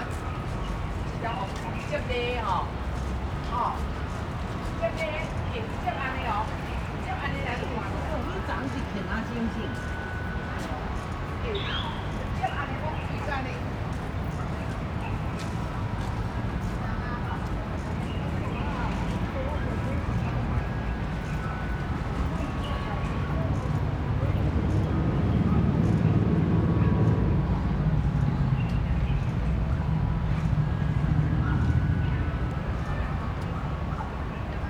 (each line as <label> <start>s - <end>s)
Traffic Sound 12.2s - 34.6s